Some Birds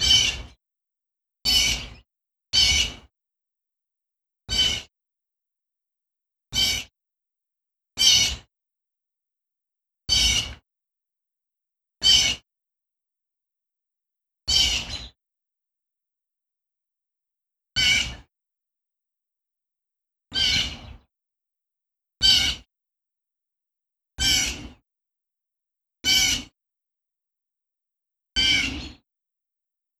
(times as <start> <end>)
2.6 3.0